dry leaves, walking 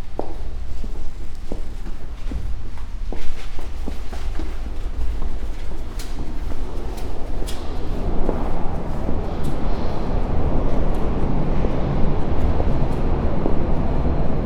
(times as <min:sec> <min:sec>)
0:00.0 0:10.2